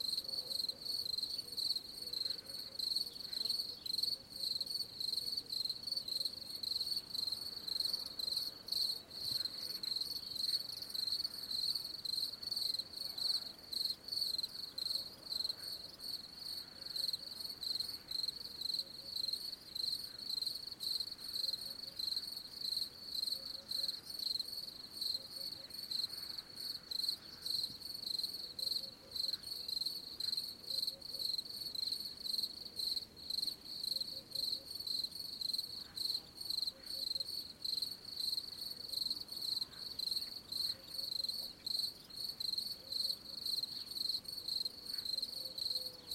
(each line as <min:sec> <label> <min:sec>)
0:00.0 crickets 0:46.1
0:00.0 frogs 0:46.1